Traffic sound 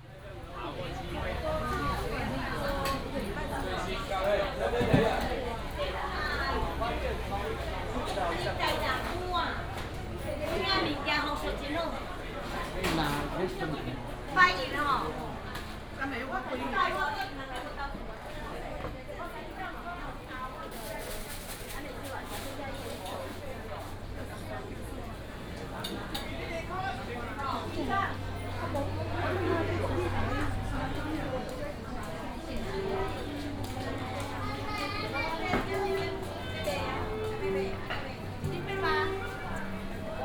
0.1 13.3, 23.9 40.2

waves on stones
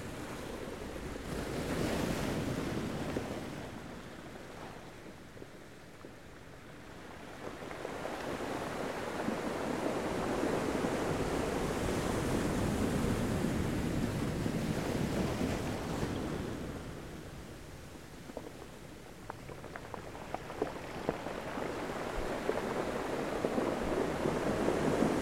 15.0 25.2

